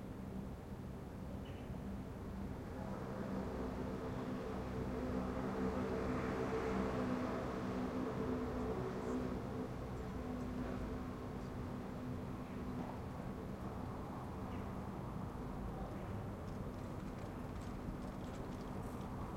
16.0s bike 19.3s

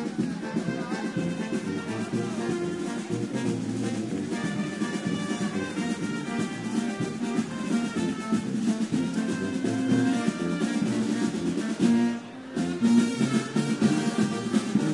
0.0s Crowd talking and singing 14.9s
0.0s brass band doing a street performance 14.9s

